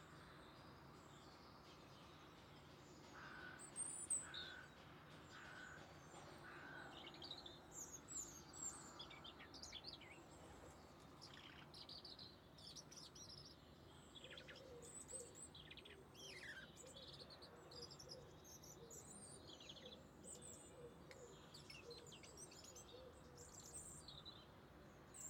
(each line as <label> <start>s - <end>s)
few birds 0.0s - 25.2s